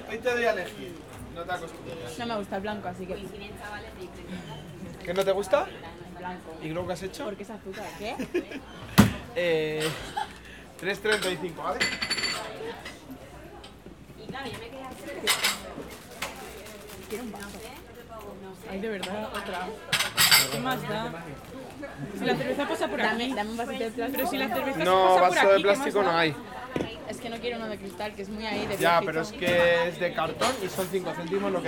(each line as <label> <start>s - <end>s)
Dish, Glass, and Cutlery noises 11.0s - 13.0s
Dish, Glass, and Cutlery noises 18.9s - 20.9s